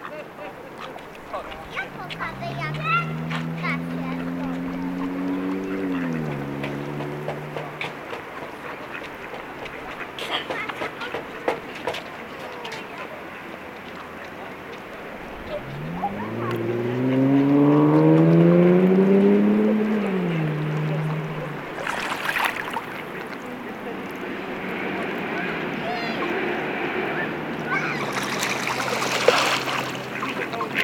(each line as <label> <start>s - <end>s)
Ducks 7.6s - 11.3s
Ducks 27.1s - 30.8s
kids 27.4s - 30.8s